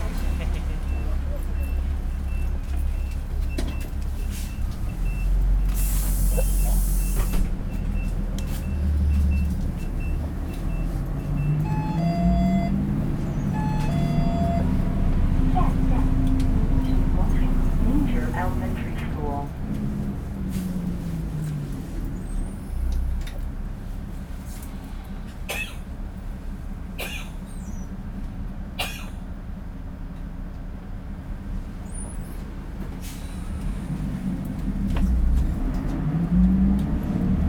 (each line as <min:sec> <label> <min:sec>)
0:00.0 Traffic Sound 0:37.4
0:32.4 Walking on the road 0:37.4